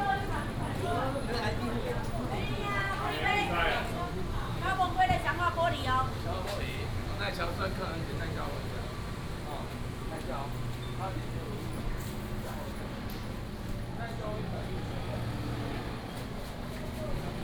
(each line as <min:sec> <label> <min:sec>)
0:00.0 Walking through the market 0:17.4